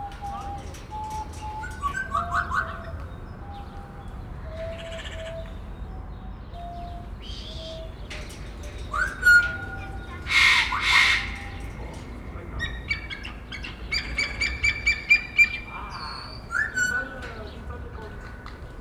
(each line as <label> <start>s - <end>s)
parrots in their aviary 0.0s - 18.8s
voice and bird sound imitation of a visitor 8.9s - 18.8s